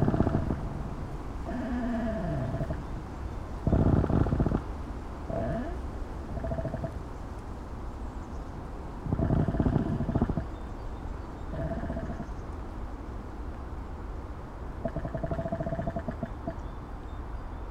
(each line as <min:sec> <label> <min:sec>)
0:00.0 creaking-mic on pine tree 0:00.7
0:01.4 creaking-mic on pine tree 0:03.0
0:03.6 creaking-mic on pine tree 0:04.7
0:05.3 creaking-mic on pine tree 0:07.0
0:09.0 creaking-mic on pine tree 0:10.6
0:14.8 creaking-mic on pine tree 0:16.6